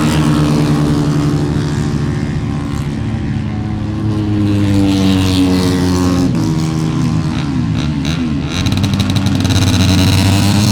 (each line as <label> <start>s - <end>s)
motorcycle 0.0s - 10.7s